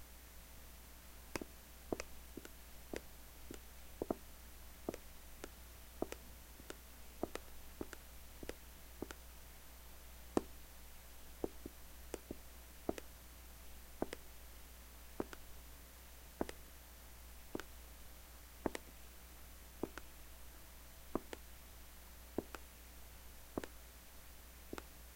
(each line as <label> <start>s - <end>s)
footstep sounds 1.3s - 9.2s
footstep sounds 11.4s - 13.1s
footstep sounds 14.0s - 14.3s
footstep sounds 15.2s - 15.5s
footstep sounds 16.4s - 16.6s
footstep sounds 17.5s - 17.7s
footstep sounds 18.6s - 18.9s
footstep sounds 19.8s - 20.1s
footstep sounds 21.1s - 21.4s
footstep sounds 23.6s - 23.8s